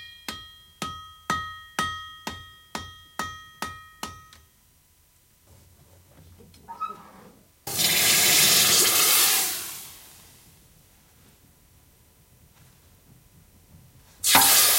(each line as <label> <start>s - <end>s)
blacksmith working 14.2s - 14.7s